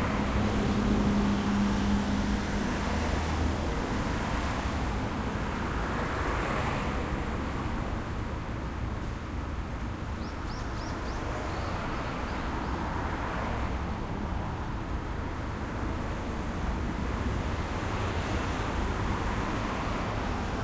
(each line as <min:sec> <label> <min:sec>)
0:00.0 traffic 0:20.6